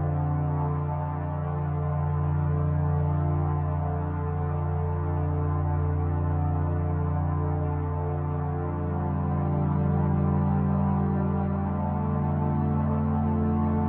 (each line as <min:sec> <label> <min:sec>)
0:00.0 Ambient pad 0:13.8